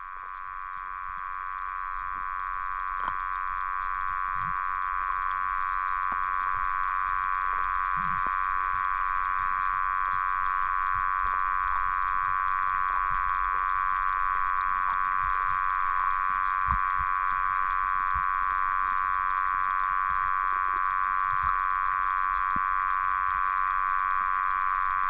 0.0s Underwater sounds 25.0s

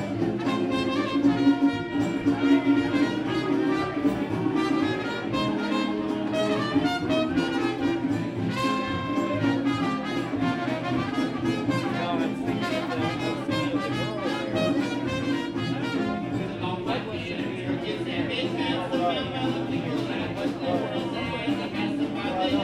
0.0s folk band 22.6s

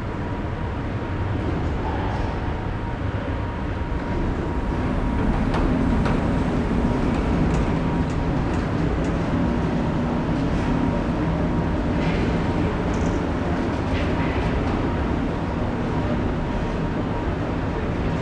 0.0s elevators moving up and down in the open construction 18.2s

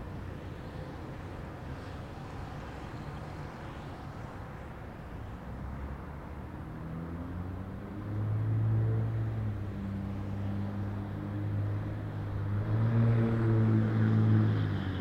0.0s busy intersection 15.0s
6.8s motorcycle comes to intersection and speeds away 15.0s

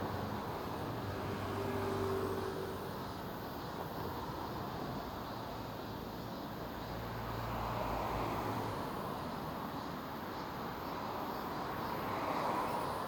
0.0s Cars passing by 5.0s
0.0s Cicada 13.0s
6.7s Cars passing by 13.0s

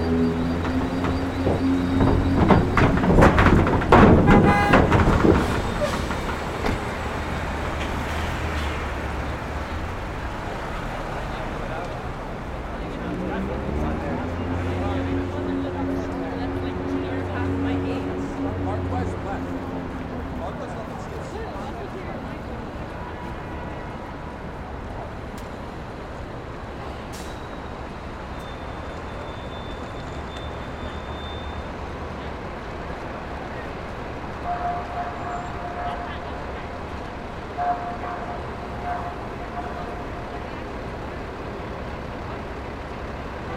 0.0s Traffic rolling over large construction steel plates 23.0s

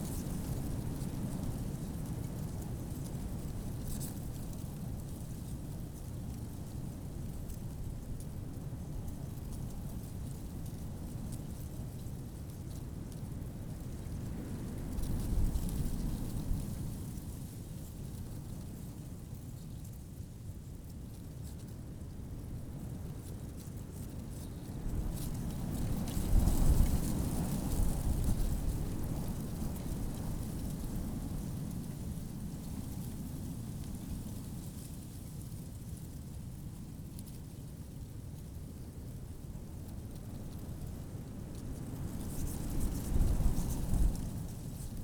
22.6s fresh wind in a dead tree 45.0s

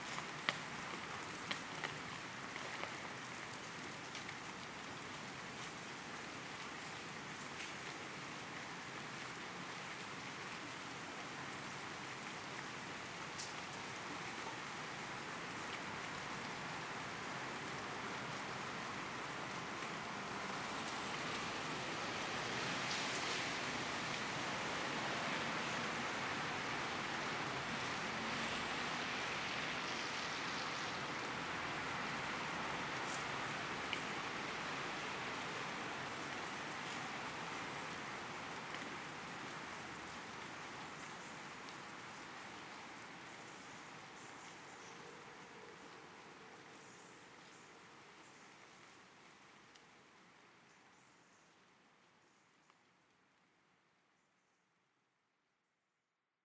0.0s Rain 54.2s

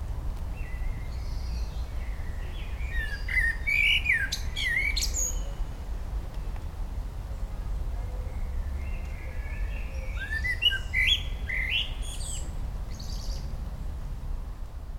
0.0s rain 3.1s
0.0s bassy, low frequencies of nearby and dense traffic 14.9s
0.6s Blackbird 5.6s
8.0s Blackbird 13.5s
11.3s rain 14.9s

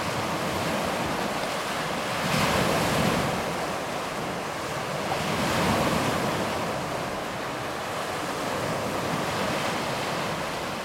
0.0s Sea Waves On a Rocky Shore 10.8s

